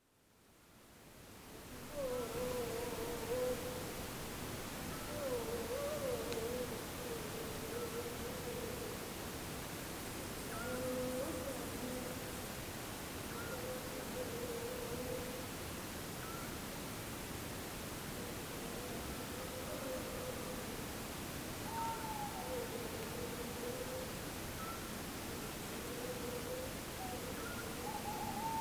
Owls 0:04.9 - 0:09.0
Owls 0:10.5 - 0:12.1
Owls 0:13.3 - 0:15.4
Owls 0:21.7 - 0:28.6

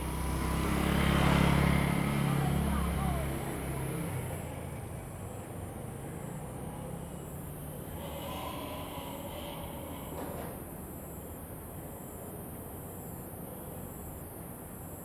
Traffic Sound 0:00.0 - 0:05.1
Train traveling through 0:06.0 - 0:11.3

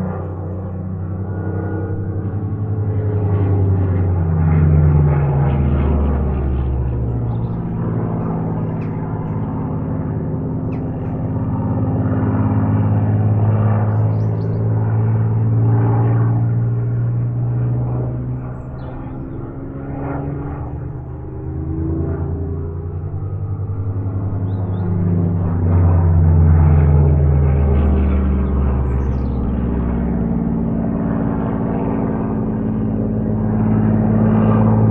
WW2 Spitfire above my house performing an aerobatic display 0:00.0 - 0:34.9

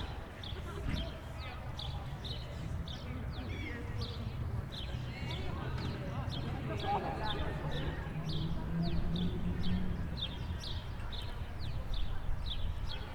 people moving towards and from the city 0:00.0 - 0:13.1
Loud cars 0:05.6 - 0:10.6

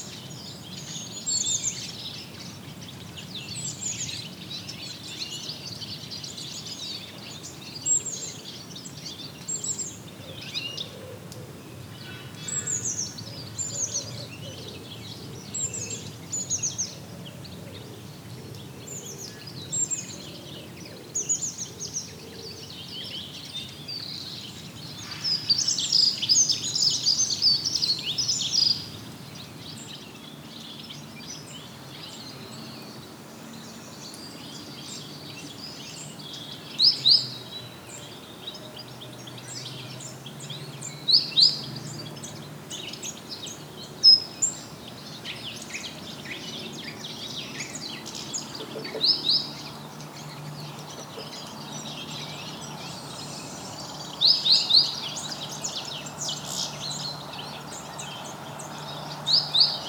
colony of Redwing, migratory birds 0:00.0 - 0:59.8

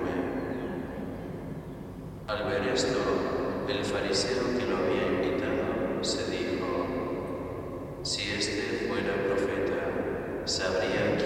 service performed by Gregorian monks 0:00.0 - 0:11.2

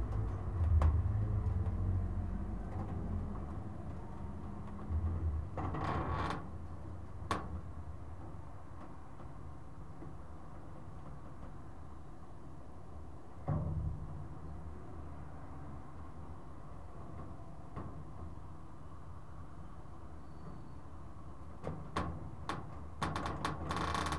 metal palisade moving by the action of the wind 0:22.2 - 0:24.1

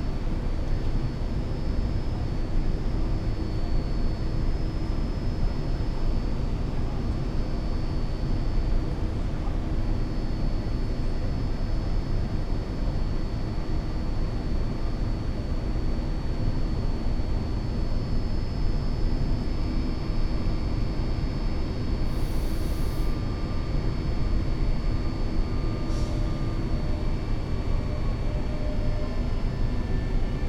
exhaust air fan drone 0:00.0 - 0:30.4

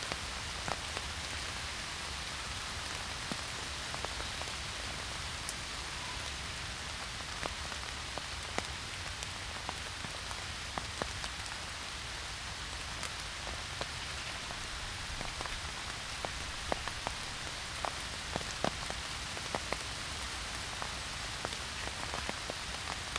Rain in forest 0:00.0 - 0:23.1

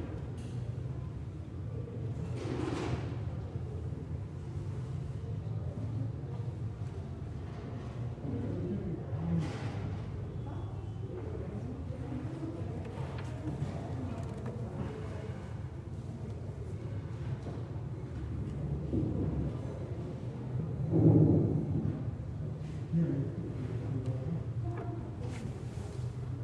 people talking 0:05.1 - 0:20.4
people talking 0:22.9 - 0:26.4

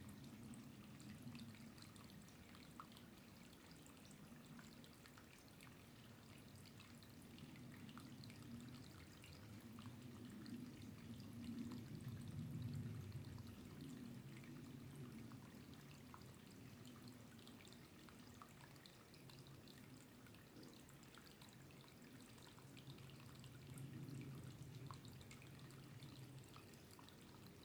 runoff small light winter river 0:00.0 - 0:27.6

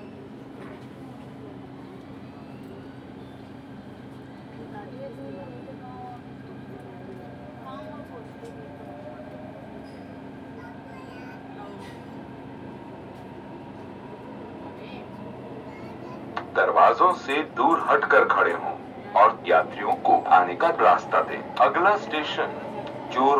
Announcements 0:15.9 - 0:23.3

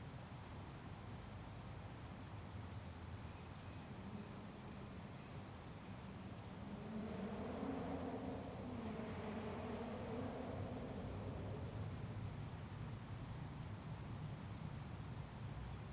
creek 0:00.3 - 0:15.9
highway 0:03.3 - 0:14.7

